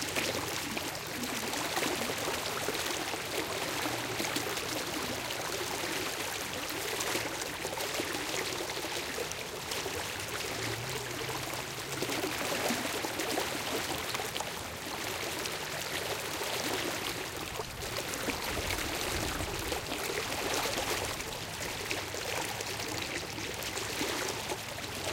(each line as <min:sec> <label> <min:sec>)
0:00.0 little traffic in the background 0:25.1
0:00.0 medium paced shallow river 0:25.1